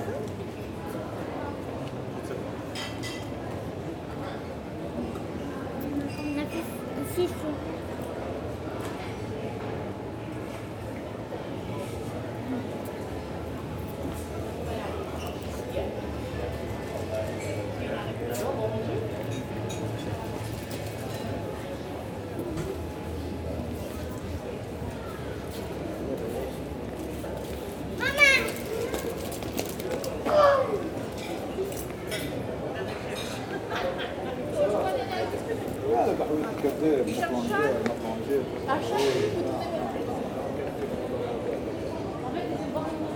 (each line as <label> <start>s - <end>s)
tourists 0.0s - 43.1s
clients in the bar 26.4s - 30.4s